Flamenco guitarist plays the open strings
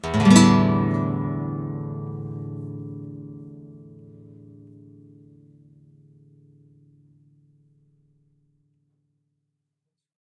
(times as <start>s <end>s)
0.0s 7.9s